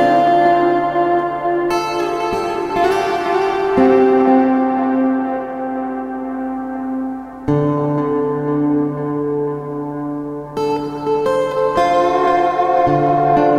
acoustic guitar solo with reverb and delay effects 0:00.0 - 0:13.5

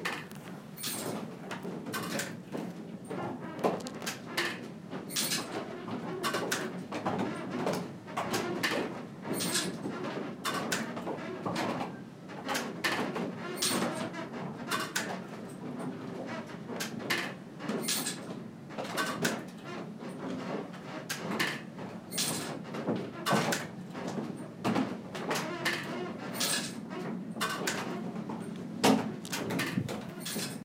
machinery inside a windmill 0:00.0 - 0:30.6

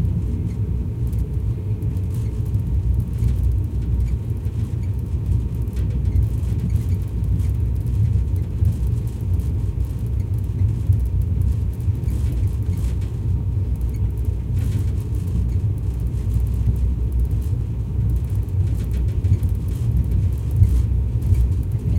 train 0:00.0 - 0:21.9

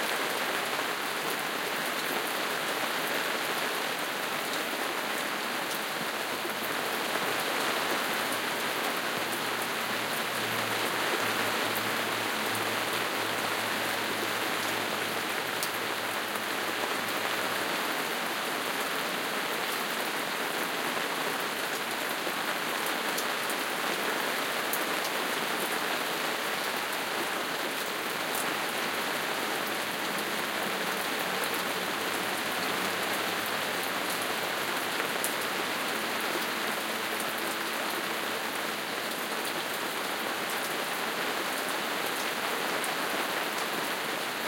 rain hitting the gazebo roof 0:00.0 - 0:44.4

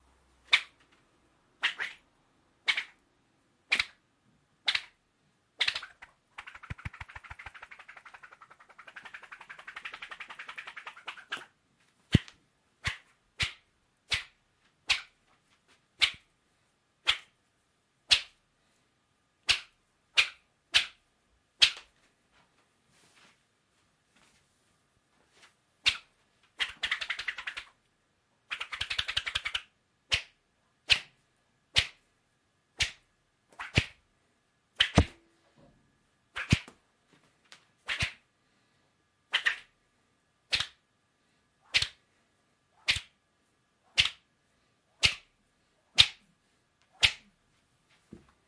thin tree branch wipping in the air 0:06.4 - 0:11.5

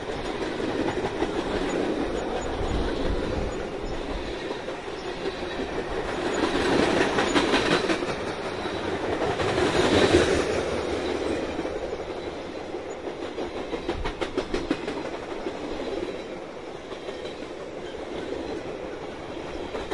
northbound freight 0:00.0 - 0:19.9

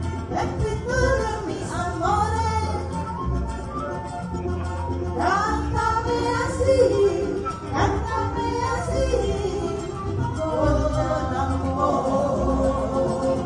Campursari Music 0:00.0 - 0:13.4
strings 0:00.0 - 0:13.4
singing 0:05.2 - 0:13.4

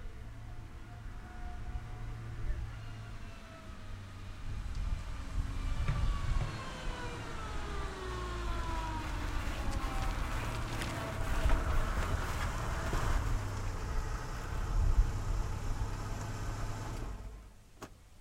car 0:00.0 - 0:18.2

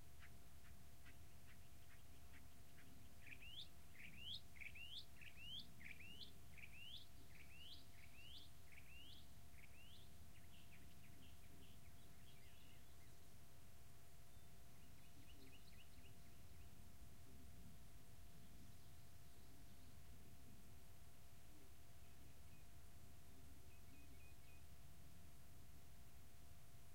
bird calls 0:00.2 - 0:13.2

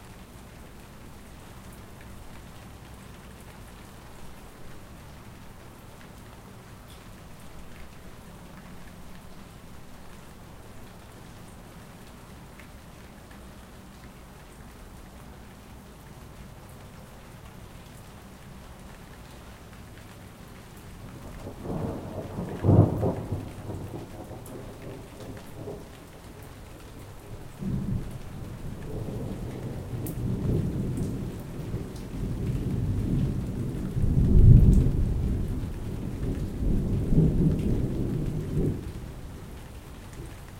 rain 0:00.0 - 0:40.5
thunder 0:21.3 - 0:25.9
thunder 0:27.6 - 0:39.0

